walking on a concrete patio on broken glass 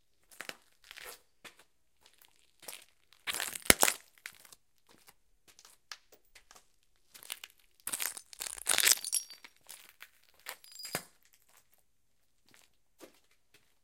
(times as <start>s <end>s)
7.9s 9.5s, 10.5s 11.1s